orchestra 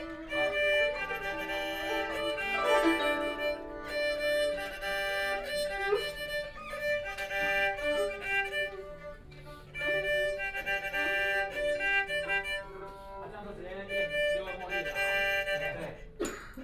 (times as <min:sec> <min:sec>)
0:00.0 0:06.4